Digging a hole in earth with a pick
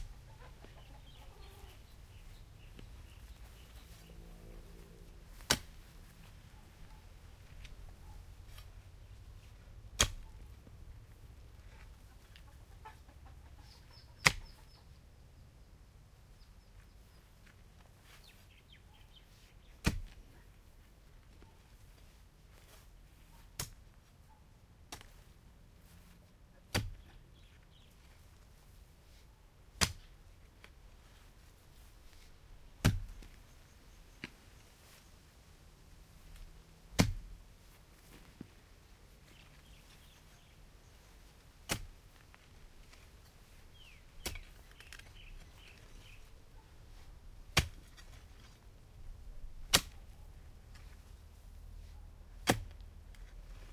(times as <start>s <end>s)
2.2s 8.8s, 9.4s 10.7s, 13.9s 14.8s, 19.6s 20.3s, 23.2s 24.0s, 24.9s 25.3s, 26.6s 27.4s, 29.6s 34.6s, 36.1s 38.5s, 39.2s 53.7s